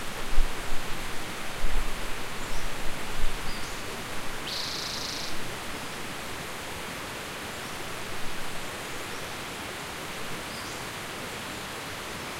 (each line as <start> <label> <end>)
0.0 river 12.3
0.0 stream 12.3